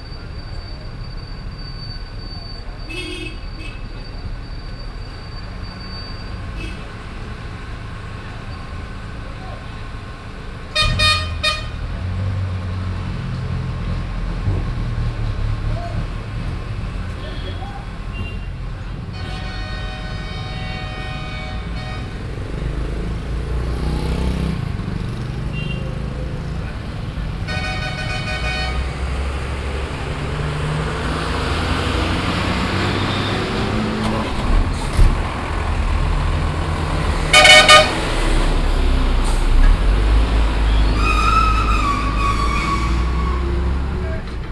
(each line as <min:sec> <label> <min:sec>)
0:00.0 bus 0:44.5
0:00.0 rickshaw 0:44.5
0:00.0 road traffic 0:44.5